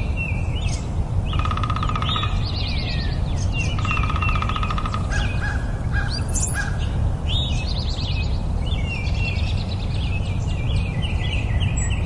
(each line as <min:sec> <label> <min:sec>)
0:00.0 Other Birds 0:12.0
0:01.3 Woodpecker 0:02.8
0:03.4 Woodpecker 0:06.7